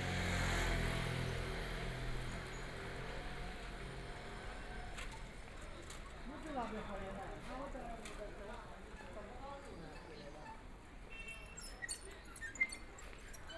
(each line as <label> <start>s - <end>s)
Traffic Sound 0.0s - 9.0s
Pedestrians 0.0s - 13.5s